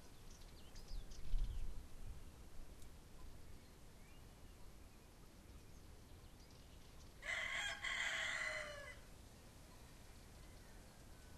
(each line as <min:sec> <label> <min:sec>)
0:00.0 Blackbird sings a beautiful song 0:01.8
0:03.5 Blackbird sings a beautiful song 0:07.2